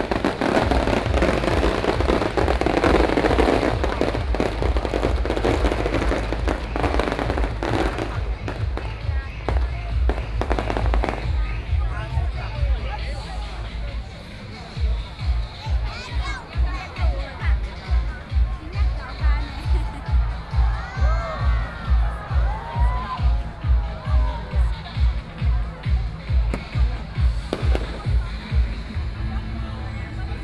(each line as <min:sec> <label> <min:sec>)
0:00.0 firecrackers 0:30.4